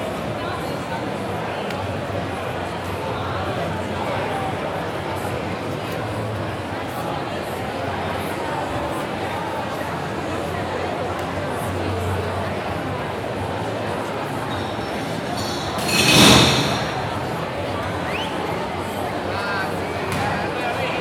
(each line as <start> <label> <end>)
0.0 people having drinks, laughing and chatting 21.0